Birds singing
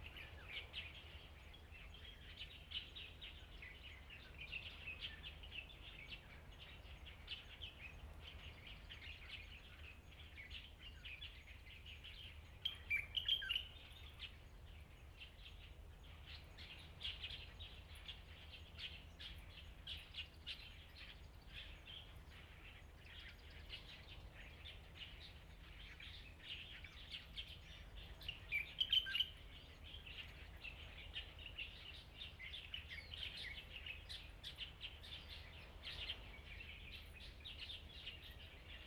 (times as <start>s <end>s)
15.4s 38.8s